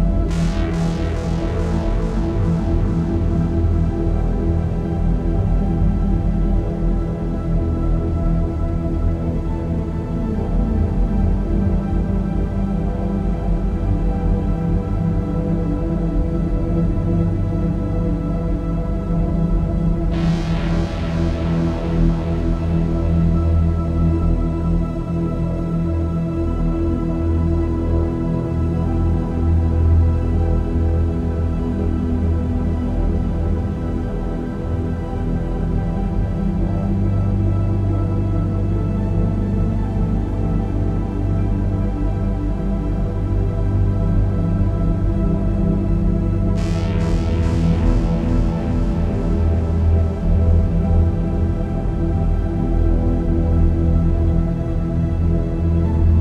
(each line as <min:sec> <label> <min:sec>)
0:00.0 synth 0:05.7
0:19.6 synth 0:25.8
0:44.9 synth 0:56.2